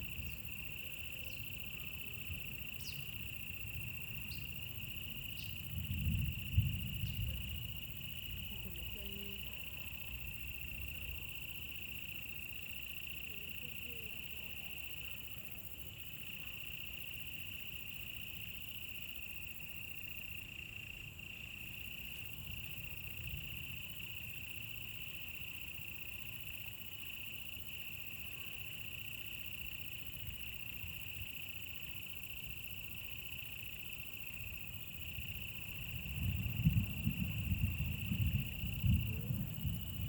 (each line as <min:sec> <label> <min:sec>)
0:00.0 insects 0:40.0
0:02.8 Bird sounds 0:03.2